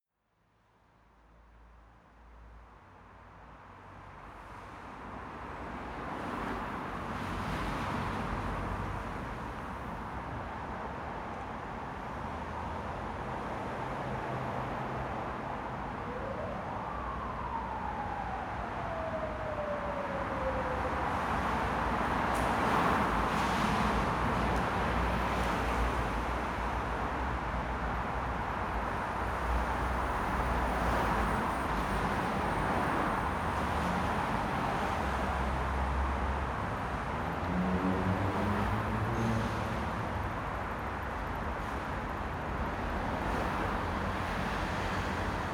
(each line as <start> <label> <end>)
28.0 Cars and Motorcycles passing by 41.4